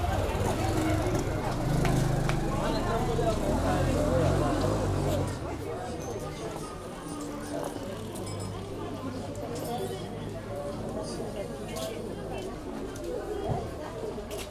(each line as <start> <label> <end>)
0.0 walk along street market 14.5